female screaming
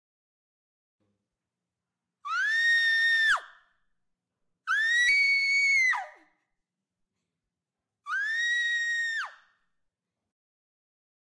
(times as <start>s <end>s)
2.3s 3.5s, 4.7s 6.2s, 8.1s 9.4s